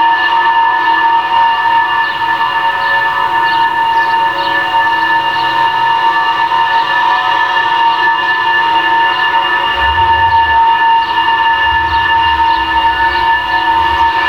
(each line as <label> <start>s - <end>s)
traffic bridge over a railway 0.0s - 14.2s
wind 0.0s - 14.2s